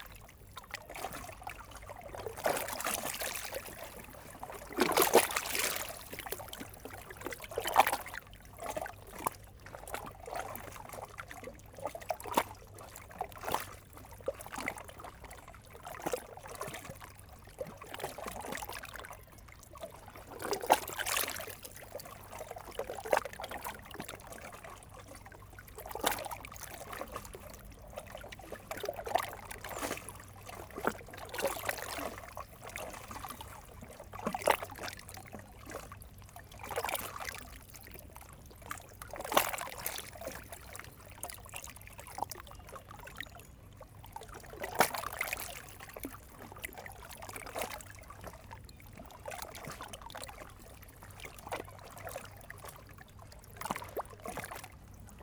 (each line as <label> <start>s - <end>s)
quiet river Seine 0.0s - 55.2s